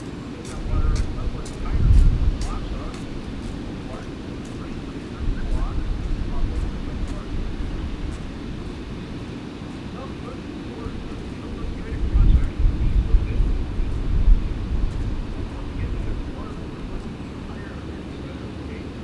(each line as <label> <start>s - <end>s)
Two walkers 0.0s - 9.0s
trucks 0.0s - 11.9s
Planes 0.0s - 19.0s
distant roar of the lock spillway and fish ladder 0.0s - 19.0s
guided tour boat coming through the lock 0.0s - 19.0s
Two walkers 14.8s - 18.4s